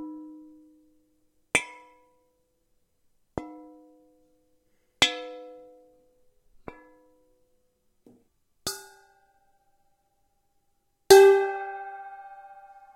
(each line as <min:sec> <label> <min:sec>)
0:01.5 metal bowl being tapped, scrapped, and hit 0:02.2
0:03.3 metal bowl being tapped, scrapped, and hit 0:04.2
0:05.0 metal bowl being tapped, scrapped, and hit 0:07.3
0:08.7 metal bowl being tapped, scrapped, and hit 0:09.8
0:11.1 metal bowl being tapped, scrapped, and hit 0:12.9